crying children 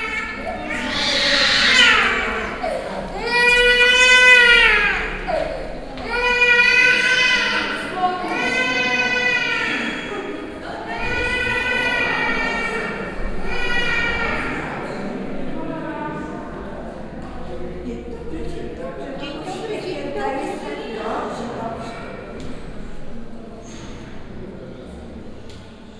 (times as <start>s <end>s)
0.0s 15.1s